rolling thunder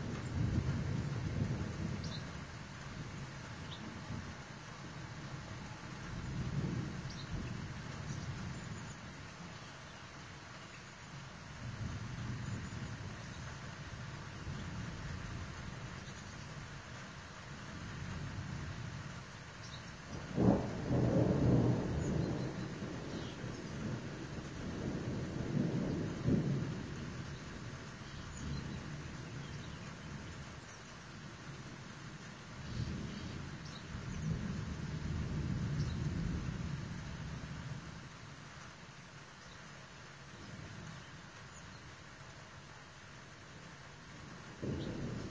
0.0s 4.3s, 6.1s 8.9s, 20.1s 30.5s, 32.2s 38.0s, 44.5s 45.3s

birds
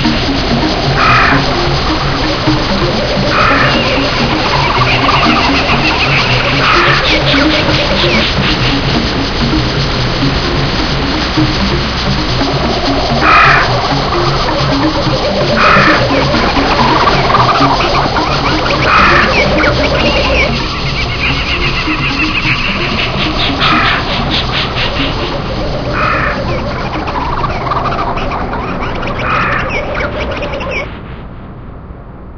1.0s 1.5s, 3.1s 8.8s, 13.2s 13.9s, 15.3s 30.9s

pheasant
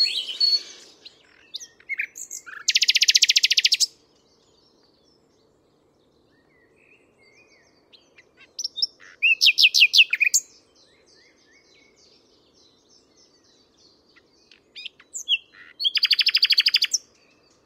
0.0s 4.0s, 7.9s 12.0s, 14.1s 17.6s

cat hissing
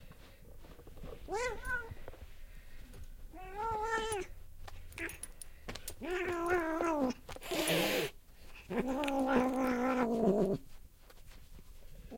6.2s 10.6s

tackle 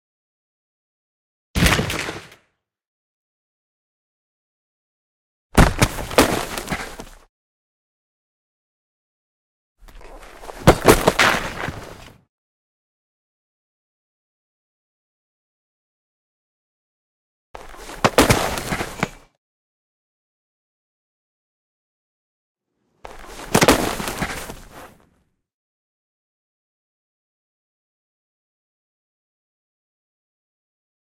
17.6s 19.2s, 23.1s 25.0s

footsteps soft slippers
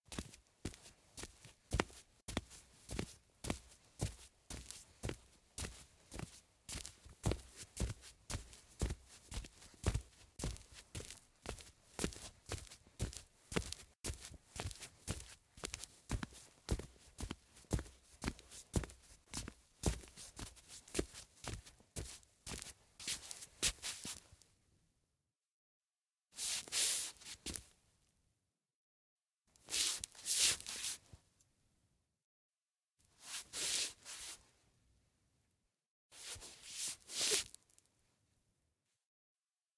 0.1s 24.4s, 26.4s 27.7s, 29.6s 31.1s, 33.2s 34.4s, 36.2s 37.8s

